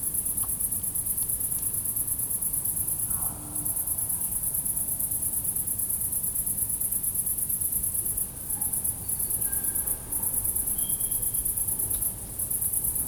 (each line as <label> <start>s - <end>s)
crickets 0.0s - 13.0s